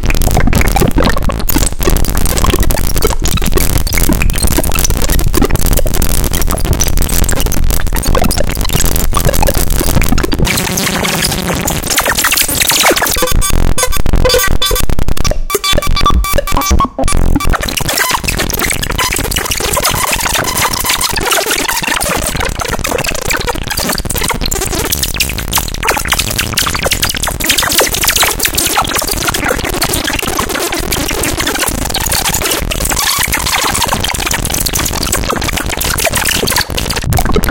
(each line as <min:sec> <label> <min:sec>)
0:09.2 synth 0:24.2